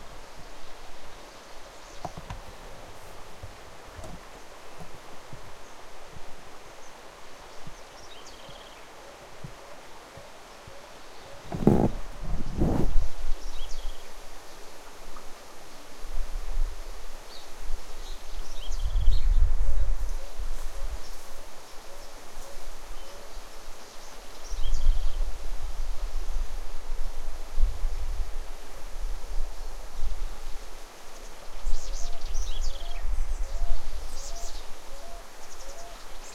0.0s River 36.3s
0.0s leaves 36.3s
0.4s birds 15.4s
17.2s birds 25.3s
29.6s birds 36.3s

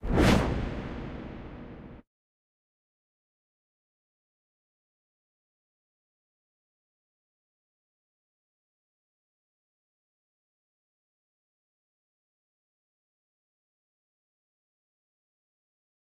0.0s reverbed whoosh 2.0s

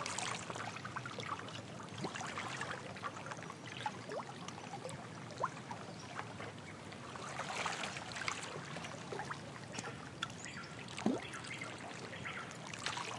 0.0s water noises 13.1s

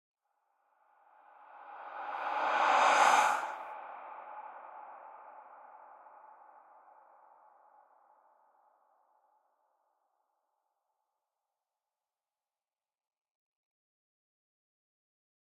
1.4s whoosh 4.7s

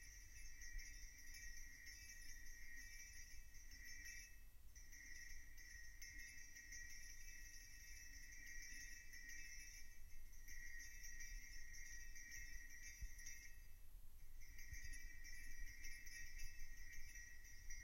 14.4s Shaking an old lightbulb 17.8s

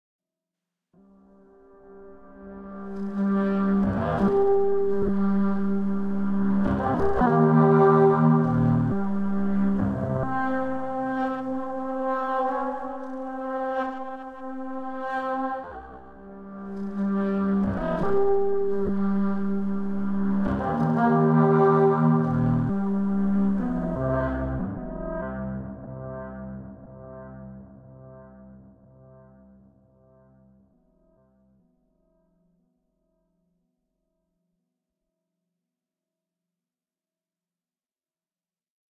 1.8s heavily processed saxophone 27.8s

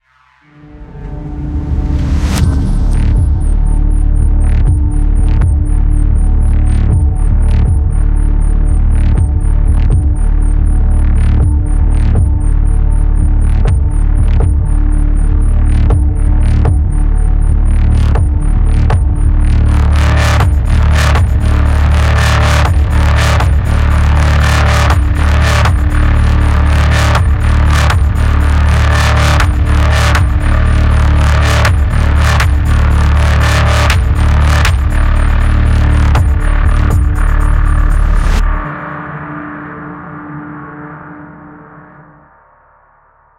0.0s Softsynth 41.9s

